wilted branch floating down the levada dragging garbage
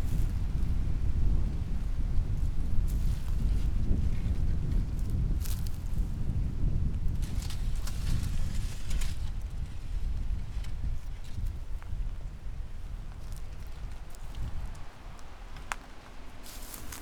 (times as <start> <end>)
15.1 17.0